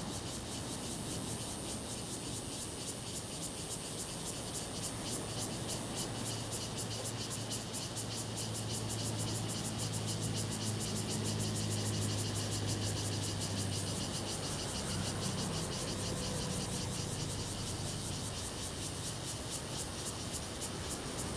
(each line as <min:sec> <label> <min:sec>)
0:00.0 Cicadas sound 0:21.3
0:10.1 Traffic Sound 0:19.4
0:11.0 Sound of the waves 0:21.3